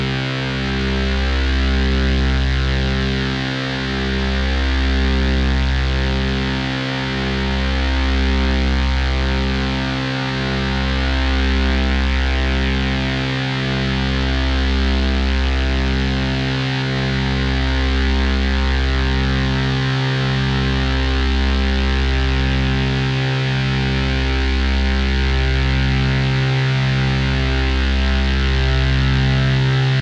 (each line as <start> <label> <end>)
0.0 soda storm noise FX recorded with analog synthesizer 30.0